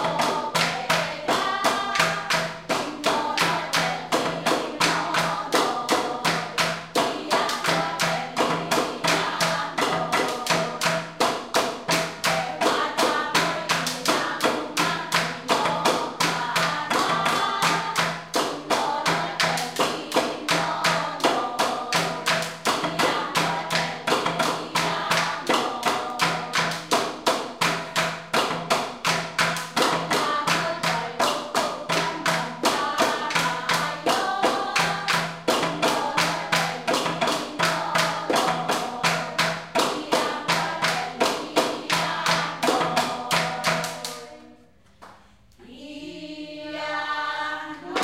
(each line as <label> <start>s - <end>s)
dance 0.0s - 44.4s